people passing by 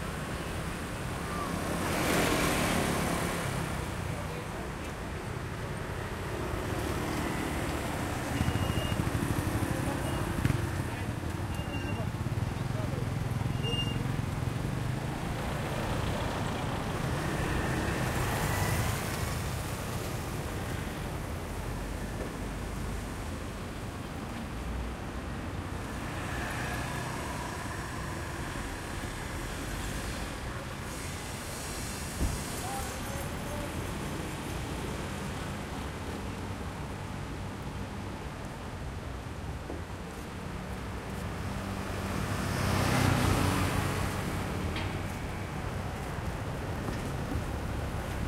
0:00.1 0:38.0

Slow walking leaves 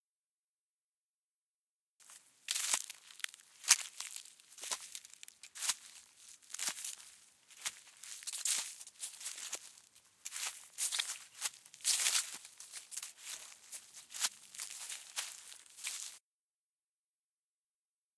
0:02.0 0:16.2

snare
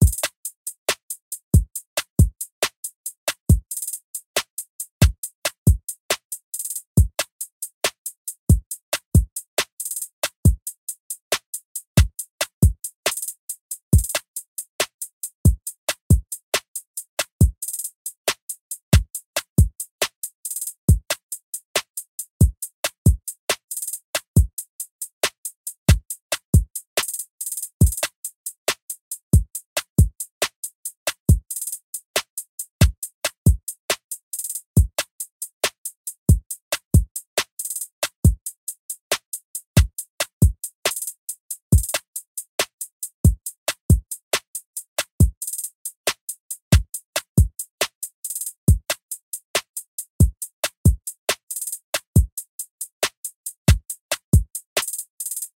0:40.9 0:41.1, 0:54.8 0:55.0

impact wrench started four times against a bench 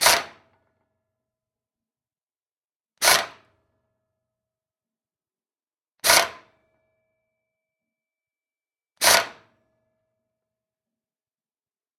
0:00.0 0:00.6, 0:03.0 0:03.6, 0:06.0 0:06.6, 0:09.0 0:09.6

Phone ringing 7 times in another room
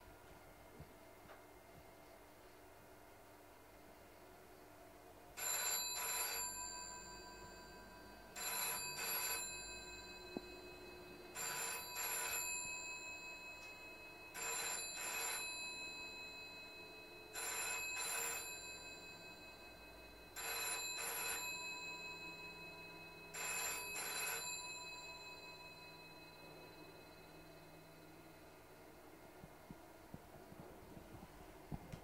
0:05.3 0:30.0

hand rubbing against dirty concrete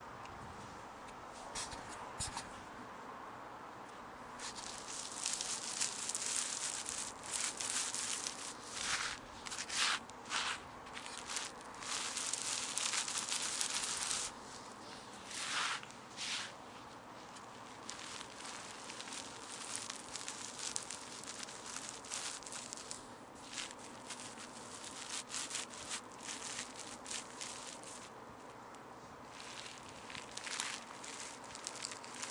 0:04.4 0:14.3, 0:15.2 0:16.6

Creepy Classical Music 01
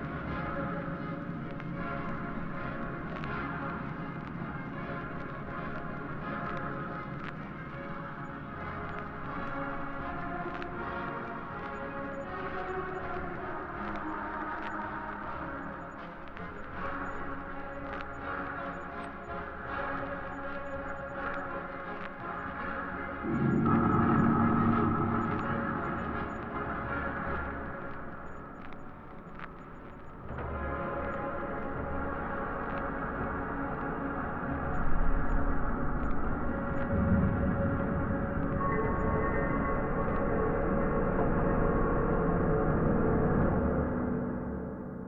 0:23.2 0:28.0

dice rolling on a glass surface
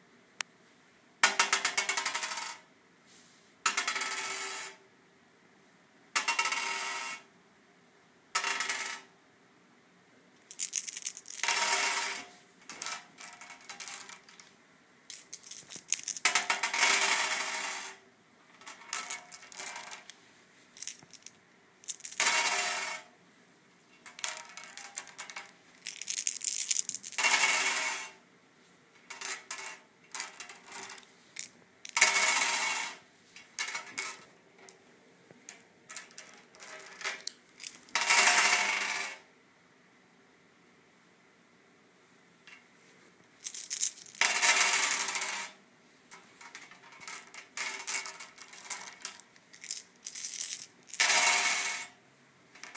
0:01.2 0:02.6, 0:03.7 0:04.8, 0:06.2 0:07.2, 0:08.4 0:09.1, 0:10.5 0:18.0, 0:18.6 0:20.2, 0:20.8 0:23.1, 0:24.0 0:28.2, 0:29.1 0:34.3, 0:35.5 0:39.2, 0:43.4 0:52.0, 0:52.6 0:52.7

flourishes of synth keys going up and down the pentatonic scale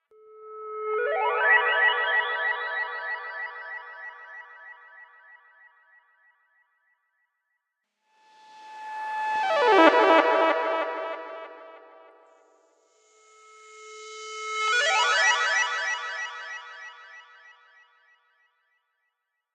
0:00.6 0:04.8, 0:09.0 0:12.5, 0:14.5 0:17.0

